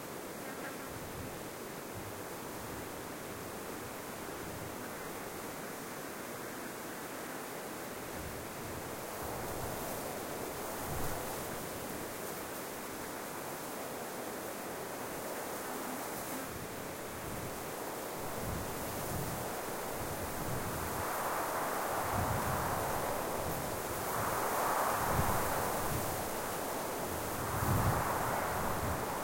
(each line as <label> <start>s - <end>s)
Desert wind whispering through the spinifex 0.0s - 29.2s